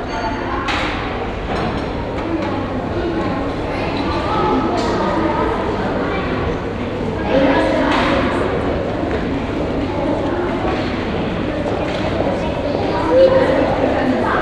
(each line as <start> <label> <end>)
0.0 group of children 14.4
0.0 lunch preparations from the downhall cafeteria 14.4